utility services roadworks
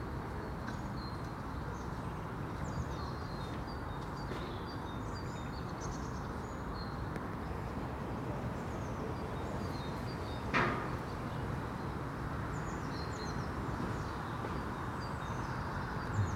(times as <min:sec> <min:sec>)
0:07.7 0:12.8, 0:13.6 0:16.3